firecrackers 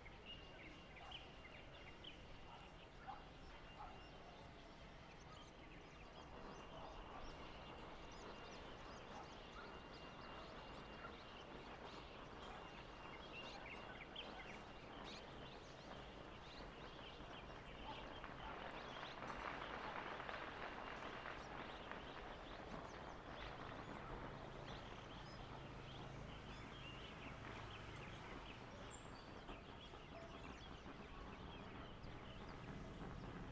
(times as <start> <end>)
17.5 24.9